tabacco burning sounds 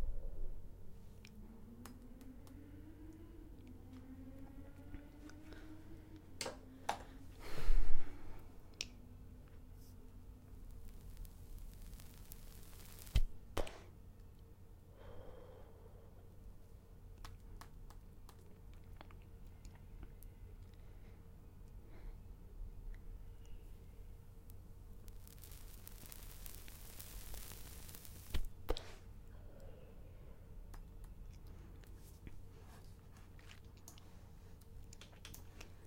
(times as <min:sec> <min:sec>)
0:06.4 0:14.4, 0:23.1 0:29.1